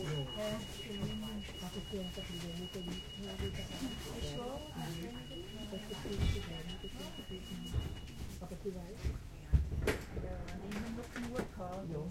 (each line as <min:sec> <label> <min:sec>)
0:00.0 announcement through the speaker 0:07.9
0:00.0 people talking Swiss-german 0:09.5
0:10.1 people talking Swiss-german 0:12.1